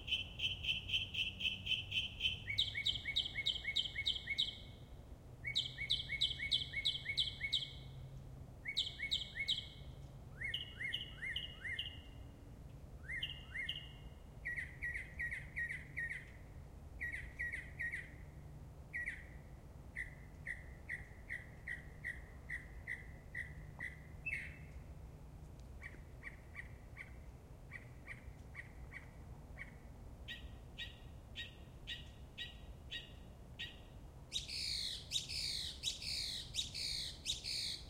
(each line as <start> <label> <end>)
0.0 mockingbird singing 4.7
5.4 mockingbird singing 7.9
8.6 mockingbird singing 9.8
25.8 mockingbird singing 37.8